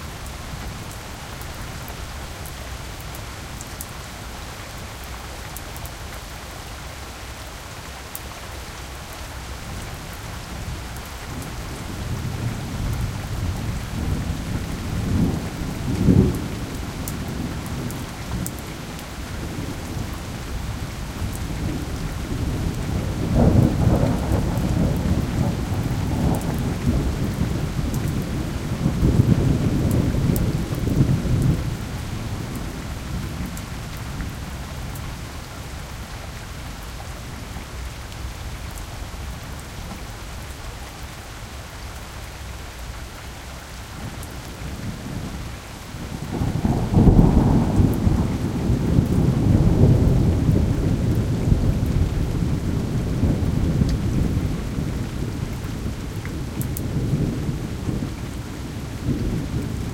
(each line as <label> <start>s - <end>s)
rain hitting the pavement 0.0s - 59.9s